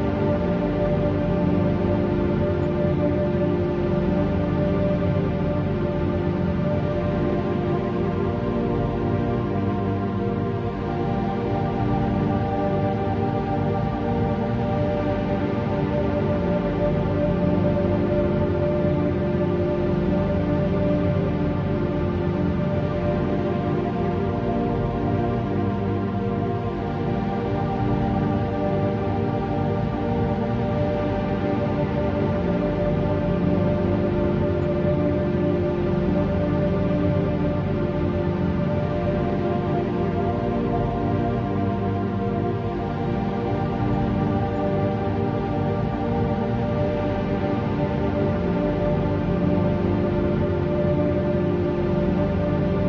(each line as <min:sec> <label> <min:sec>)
0:00.0 drone 0:52.8